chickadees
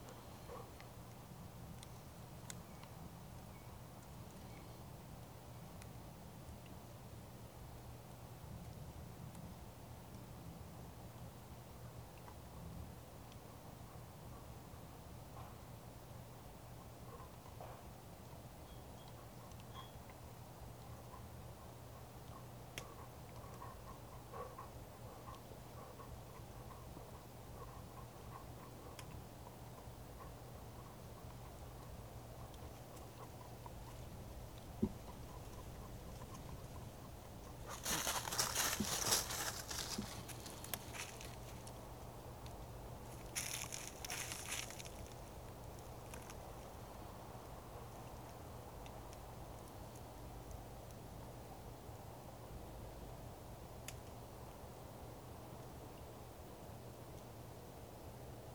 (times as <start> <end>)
18.6 50.1